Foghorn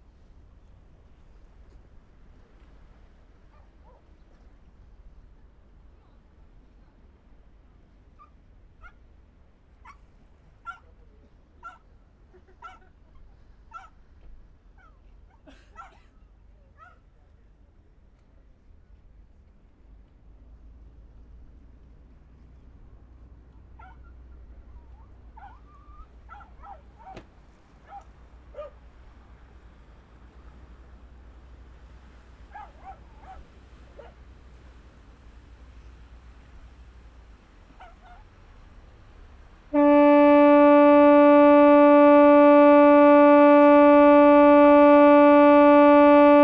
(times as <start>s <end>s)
39.7s 46.4s